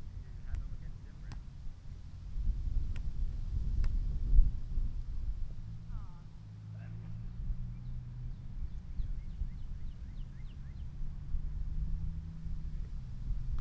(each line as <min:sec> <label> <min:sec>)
0:00.0 wind 0:13.6
0:00.4 volleyball 0:01.9